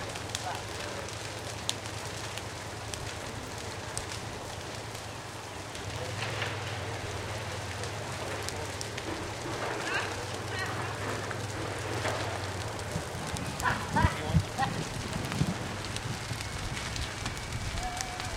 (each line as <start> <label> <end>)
0.0 Prescribed Burn 18.3